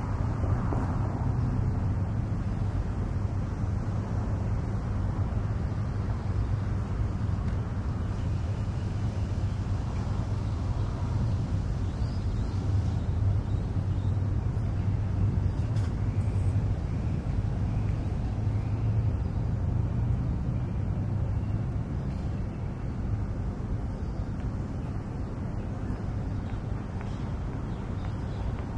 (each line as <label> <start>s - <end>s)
Birds 8.0s - 28.7s